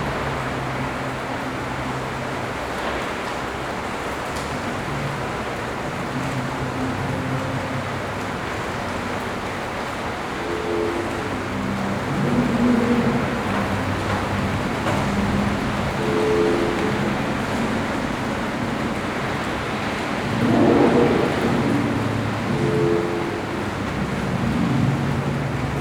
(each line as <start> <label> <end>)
0.0 raindrops 25.8